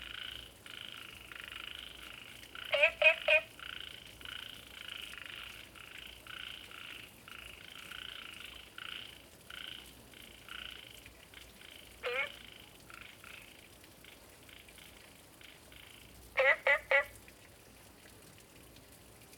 Frog calls 0:00.0 - 0:10.9
Frog calls 0:11.6 - 0:13.5
Frog calls 0:14.5 - 0:17.1

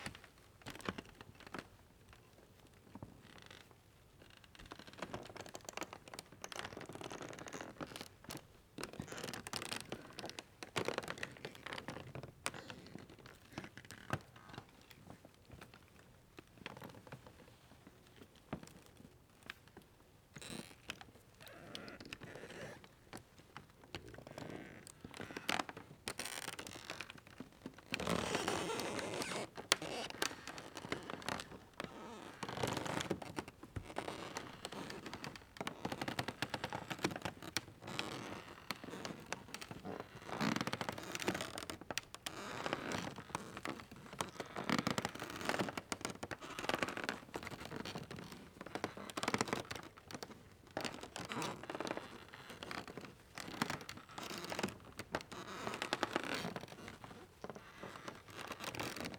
Creaky floor 0:24.2 - 0:35.3

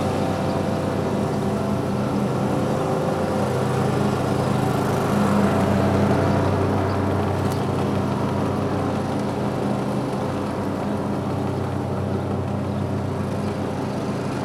man mowing a lawn on a tractor 0:00.0 - 0:14.4

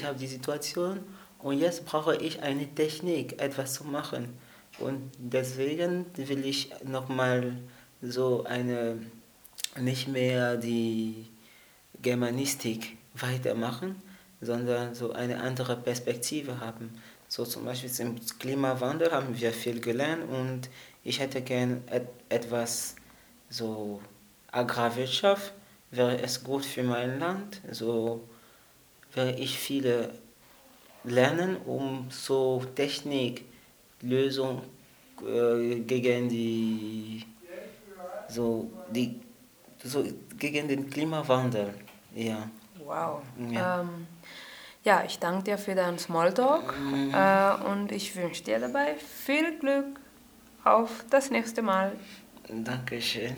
interviews 0:34.0 - 0:53.3

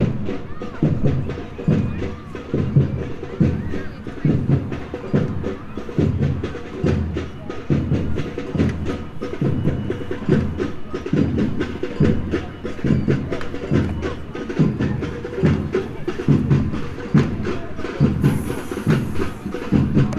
Drumming 0:00.0 - 0:20.1

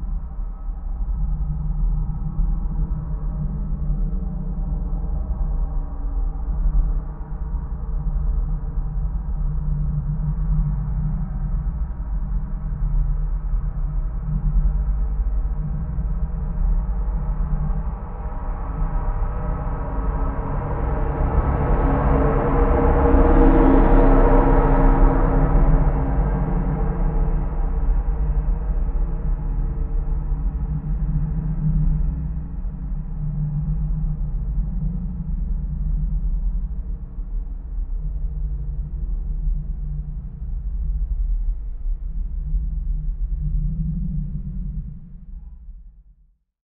Truck passing metal tower 0:19.4 - 0:28.8

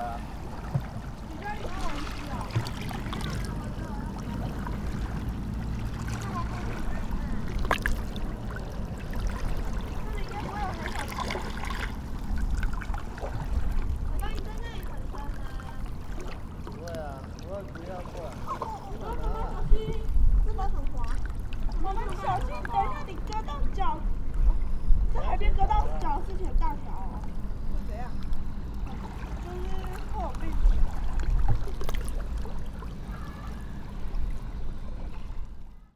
playing in the water 0:00.0 - 0:35.9

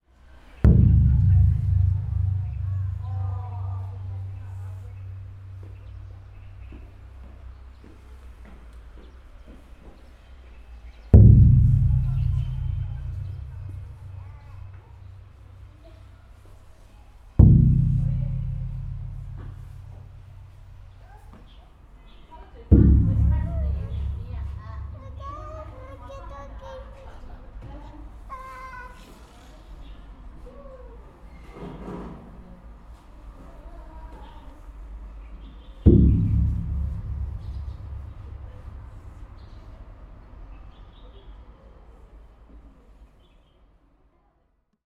drum 0:00.6 - 0:06.6
drum 0:11.2 - 0:15.8
drum 0:17.4 - 0:20.9
drum 0:22.7 - 0:26.2
drum 0:35.8 - 0:39.9

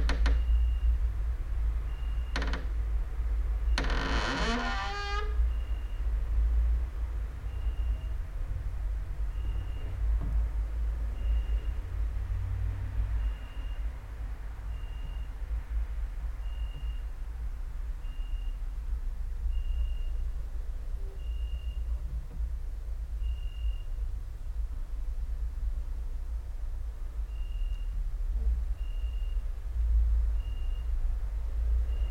creaking with wooden doors 0:00.0 - 0:00.7
cricket outside 0:01.9 - 0:02.5
creaking with wooden doors 0:02.0 - 0:02.8
creaking with wooden doors 0:03.7 - 0:05.7
cricket outside 0:21.2 - 0:21.8
cricket outside 0:23.2 - 0:24.0
cricket outside 0:27.2 - 0:28.0
cricket outside 0:28.8 - 0:29.5
cricket outside 0:30.3 - 0:31.0

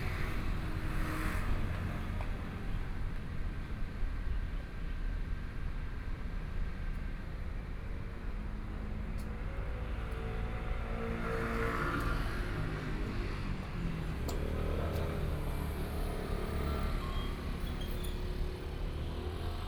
Traffic Sound 0:08.9 - 0:19.6

